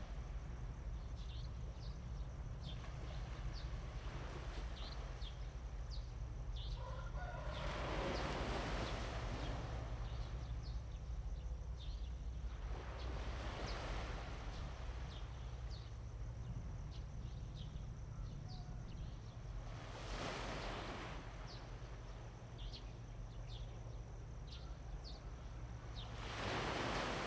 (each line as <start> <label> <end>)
0.0 waves 27.2
6.7 Bird cry 8.2
6.8 Chicken crowing 8.2